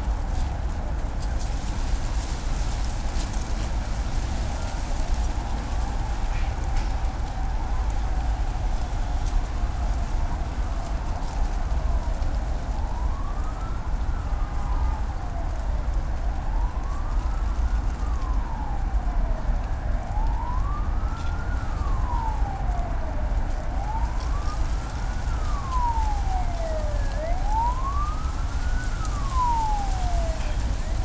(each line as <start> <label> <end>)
0.0 sirens 31.0
16.6 city hum 31.0